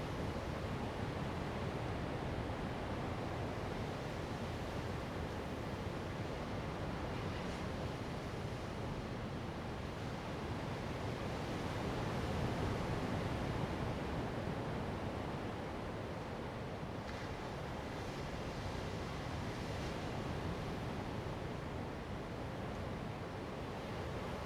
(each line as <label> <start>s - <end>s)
waves 0.0s - 24.4s